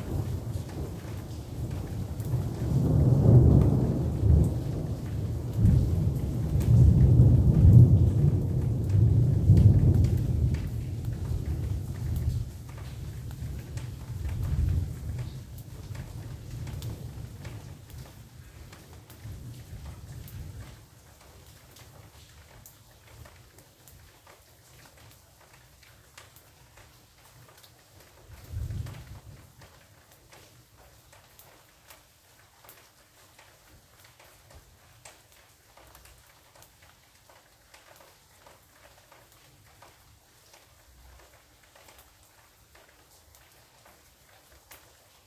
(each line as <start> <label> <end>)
0.0 rolling thunder 18.1
0.0 Soft Rain 45.2
28.3 rolling thunder 29.3